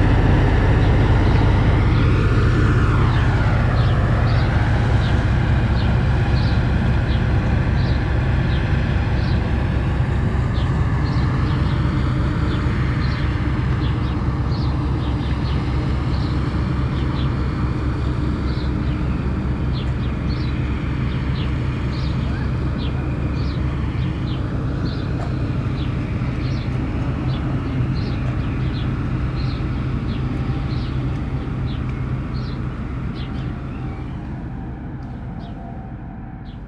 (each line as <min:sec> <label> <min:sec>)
0:00.0 arrival of a boat 0:36.6
0:00.0 departure of the boat 0:36.6
0:00.0 plane crossing the lake 0:36.6
0:18.2 passengers talking and entering the boat 0:36.6